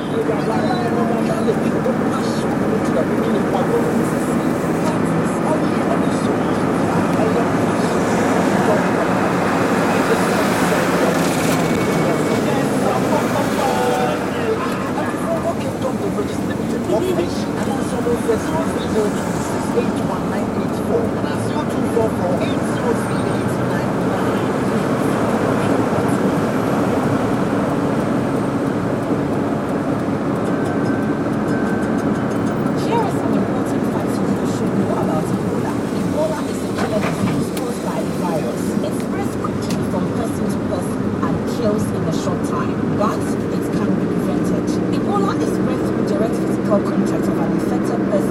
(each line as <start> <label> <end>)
0.0 announcement 48.3
0.0 traffic 48.3